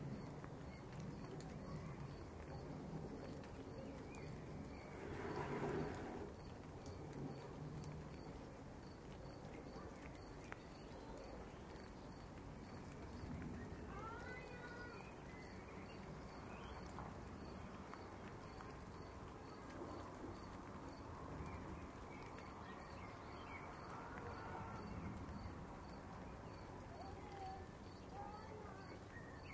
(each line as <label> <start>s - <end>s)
rain 0.0s - 29.5s
thunder 1.0s - 8.3s